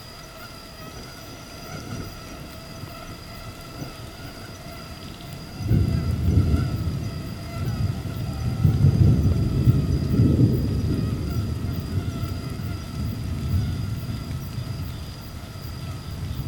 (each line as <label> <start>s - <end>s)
Mosquitoes 0.0s - 16.4s
light rain 0.0s - 16.4s
thunderstorms 5.6s - 16.4s